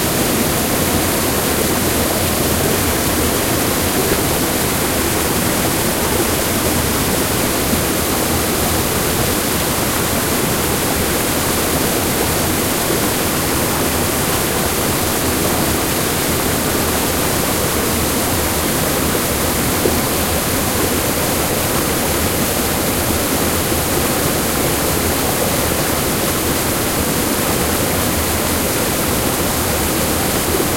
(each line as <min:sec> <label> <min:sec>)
0:00.0 waterfall 0:30.7